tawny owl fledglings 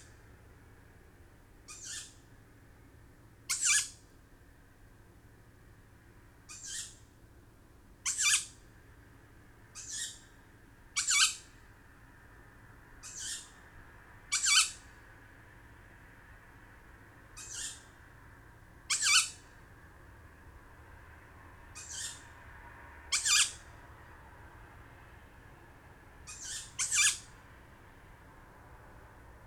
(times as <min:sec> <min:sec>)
0:01.7 0:02.3, 0:03.5 0:04.1, 0:06.5 0:07.1, 0:08.0 0:08.6, 0:09.7 0:10.3, 0:11.0 0:11.6, 0:13.0 0:13.6, 0:14.3 0:14.9, 0:17.3 0:18.0, 0:18.9 0:19.6, 0:21.7 0:22.4, 0:23.1 0:23.7, 0:26.2 0:27.4